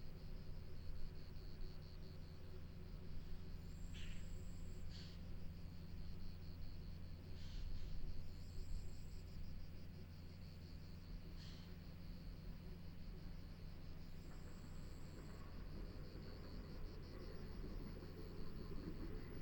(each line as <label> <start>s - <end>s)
electric passenger train 10.1s - 19.4s
Electric locomotive 12.3s - 19.4s